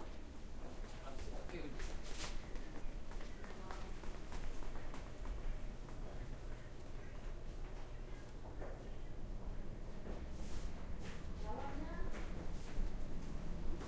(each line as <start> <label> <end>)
1.0 People talking 1.9
3.2 People talking 9.2
11.4 People talking 12.4